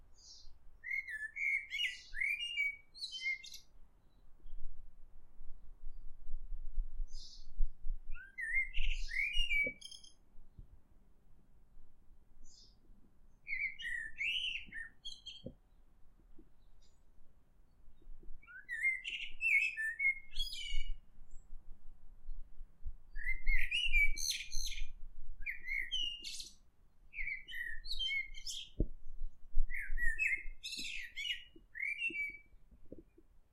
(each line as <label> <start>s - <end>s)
blackbird 0.1s - 4.2s
blackbird 8.1s - 10.6s
blackbird 12.4s - 17.0s
blackbird 17.9s - 21.5s
blackbird 23.1s - 28.9s
blackbird 29.6s - 33.3s